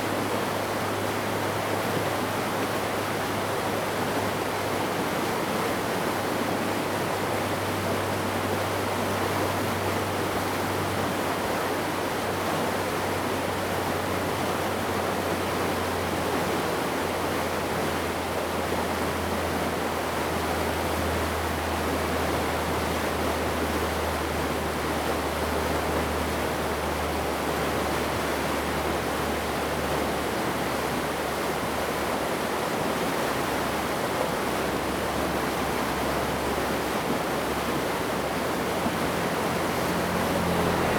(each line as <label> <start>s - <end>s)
irrigation waterways 0.0s - 40.9s